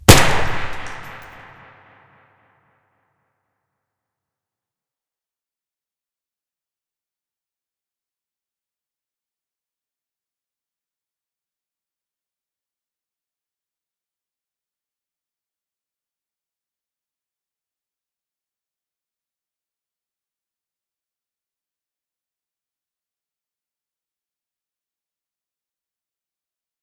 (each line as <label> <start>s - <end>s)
Gunshot in a big hallway 0.0s - 2.4s